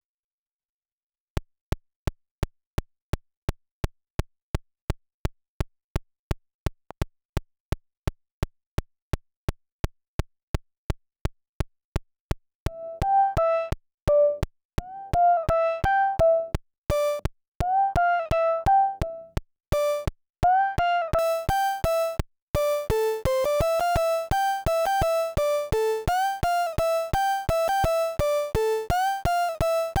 actual tune 0:12.7 - 0:30.0
sync track 0:12.7 - 0:30.0

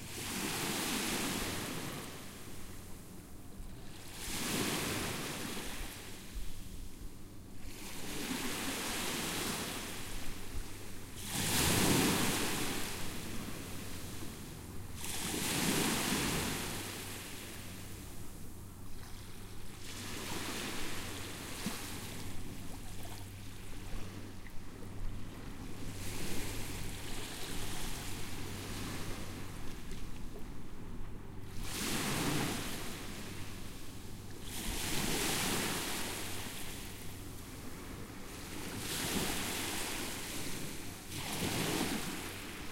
boat passing by 0:00.0 - 0:42.7
waves 0:00.0 - 0:42.7

